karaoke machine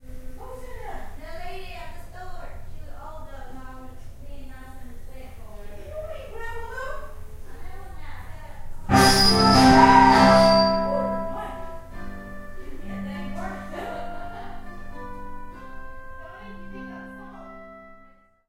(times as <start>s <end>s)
8.9s 11.7s